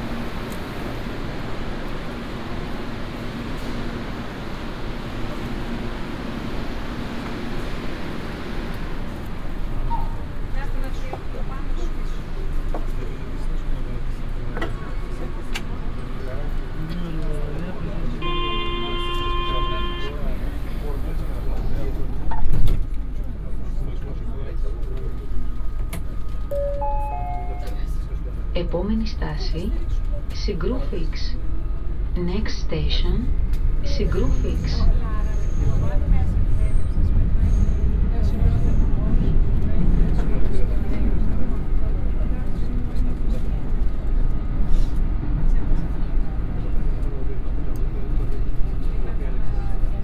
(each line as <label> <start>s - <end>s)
metro ride 0.0s - 50.0s